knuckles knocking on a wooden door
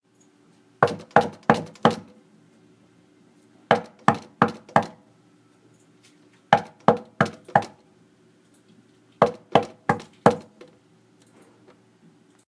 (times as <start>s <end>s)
0.8s 2.0s, 3.7s 4.9s, 6.5s 7.8s, 9.2s 10.5s